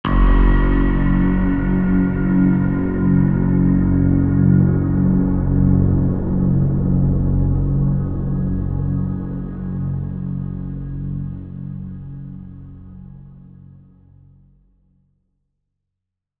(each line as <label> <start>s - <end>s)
Horror Sting 0.0s - 10.5s